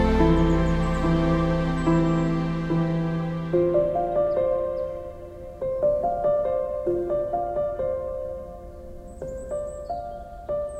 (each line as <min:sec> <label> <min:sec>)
0:00.0 woodwind 0:05.2
0:00.0 violin 0:05.5
0:00.0 bass 0:05.7
0:00.0 synth 0:06.6
0:00.0 string 0:08.3
0:00.0 piano 0:10.7